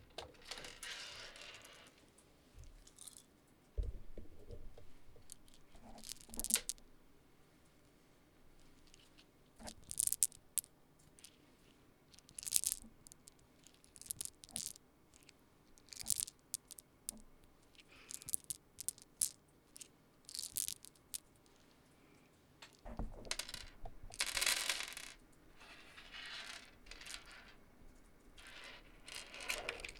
5.2s Gathering pills or seeds into the palm 6.8s
9.6s Gathering pills or seeds into the palm 11.4s
12.1s Gathering pills or seeds into the palm 17.2s
13.9s Dropping handful of seeds 14.8s
15.9s Dropping handful of seeds 17.2s
17.8s Dropping handful of seeds 21.3s
17.8s Gathering pills or seeds into the palm 21.4s
22.7s Dropping handful of seeds 27.6s

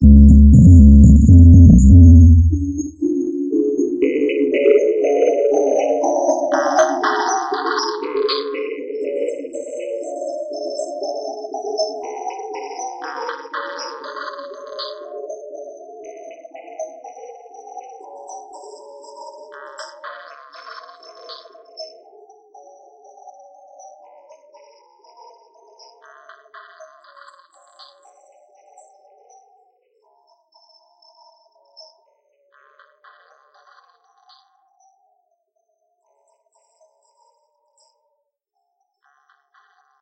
0.0s microtonic VST drum synth 3.0s

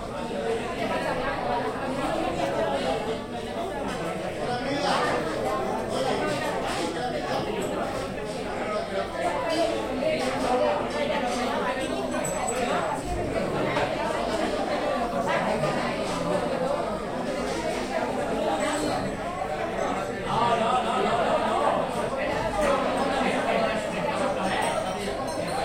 0.0s crowd 25.6s

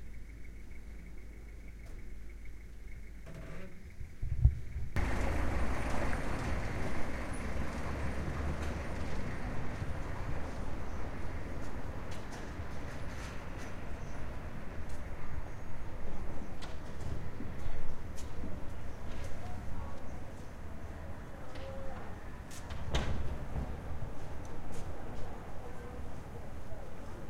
5.0s cars passing on cobblestone 27.2s
17.2s people chatting as they pass 22.7s
23.6s people chatting as they pass 27.2s

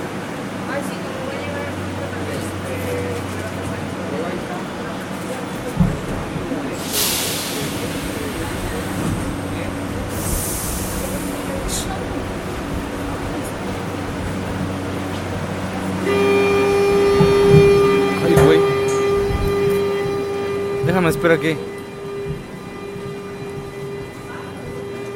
0.0s metro 25.1s

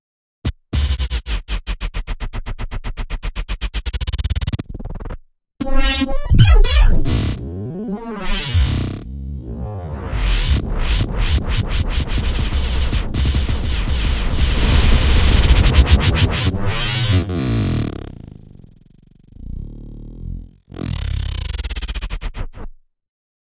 5.6s record braking 18.9s

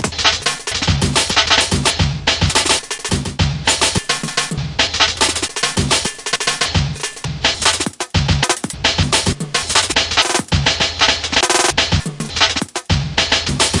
0.0s Drums 13.8s

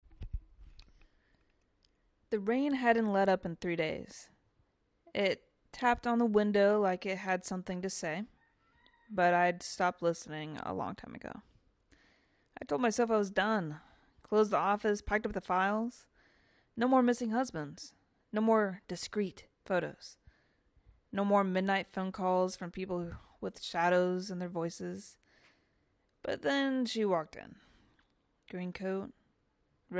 0.1s reflective monologue 29.9s

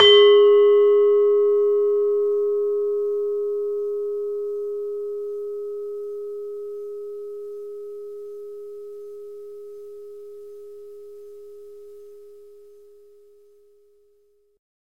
0.0s demung key from an iron gamelan 1.0s

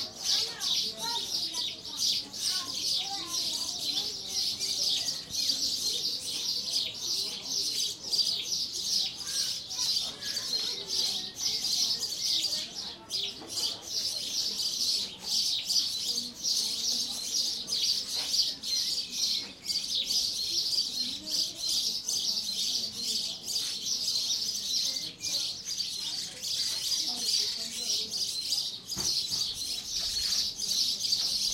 0.0s Sparrows chirping 31.5s

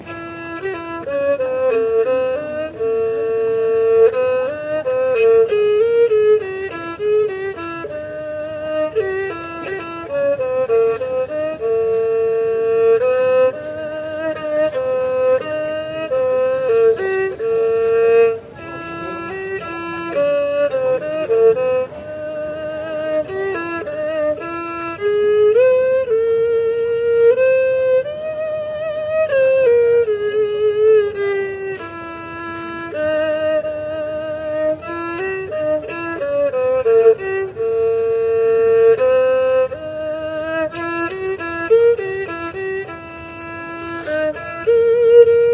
0.0s street musician doing a Chinese-violin ('erhu') performance 45.5s

